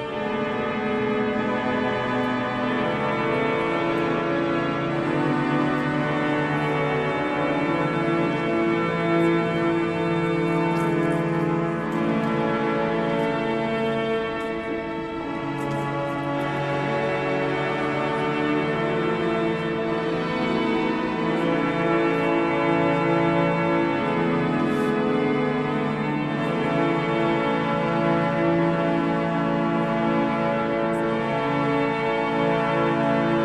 Organ during a mass 0:00.0 - 0:33.4

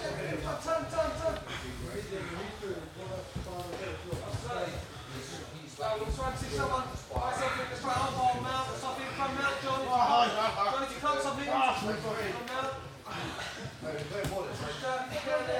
men grappling on the ground, gasping 0:01.3 - 0:05.5
men grappling on the ground, gasping 0:12.9 - 0:15.5

